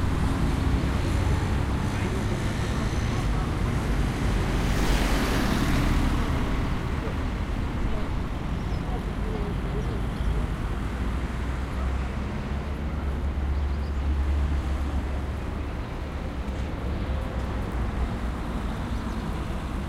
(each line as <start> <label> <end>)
0.0 Traffic roundabout 19.8